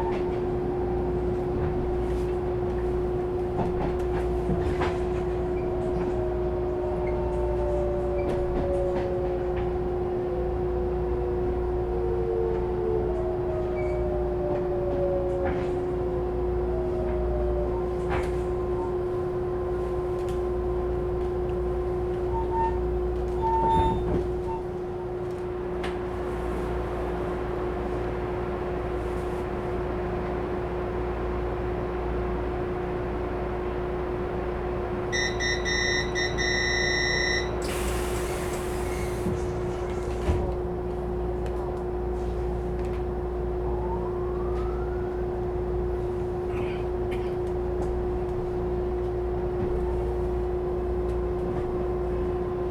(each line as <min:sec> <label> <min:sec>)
0:00.0 Train crossing 0:52.7
0:00.0 Trains traveling 0:52.7
0:35.1 Train broadcast message 0:37.7